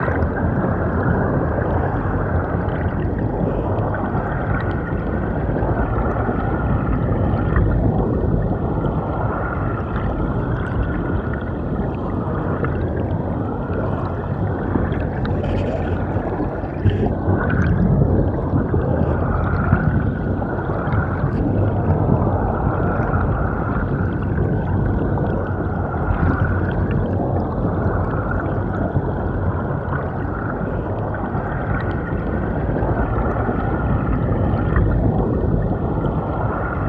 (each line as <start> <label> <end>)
0.0 Current under the bridge 36.8